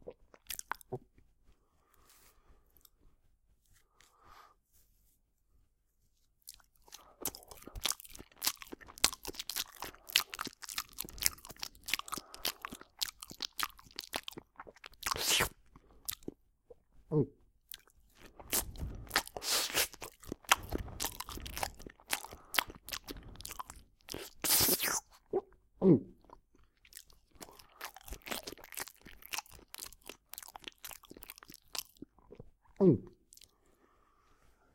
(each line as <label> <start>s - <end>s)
Banana Munching 6.4s - 16.4s
Banana Munching 17.7s - 25.2s
Banana Munching 26.3s - 32.4s